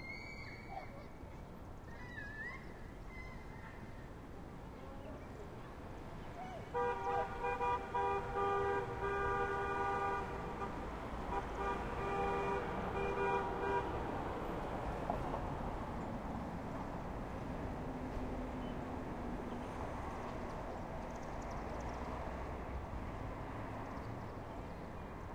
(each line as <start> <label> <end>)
6.6 People honking incessantly 14.2